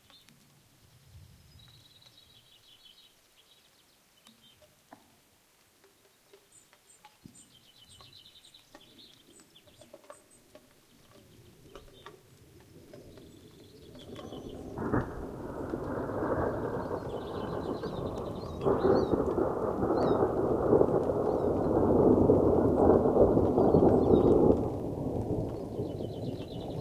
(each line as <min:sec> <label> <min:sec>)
0:00.0 birds 0:05.2
0:00.0 rain 0:26.8
0:05.8 birds 0:26.8
0:14.0 Thunder 0:26.8